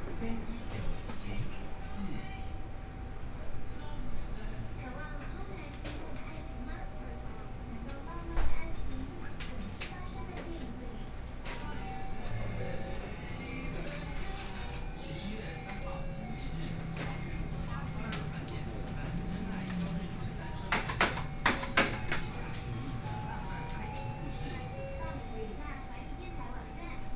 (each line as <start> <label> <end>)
12.0 walking in the street 25.6